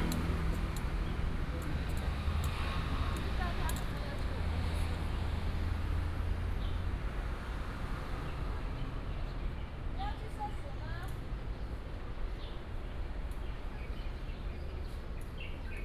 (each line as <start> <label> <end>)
0.0 Walking in a small alley 15.8